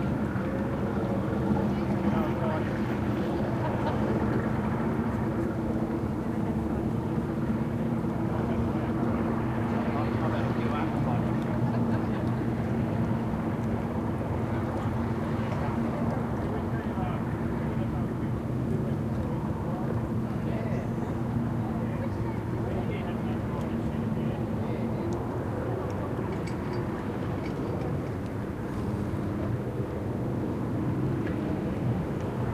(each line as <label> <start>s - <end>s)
boat 0.0s - 32.5s
water 0.0s - 32.5s